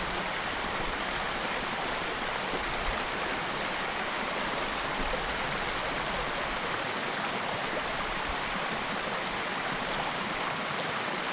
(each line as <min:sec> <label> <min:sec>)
0:00.0 water flowing along the West Dart River 0:11.3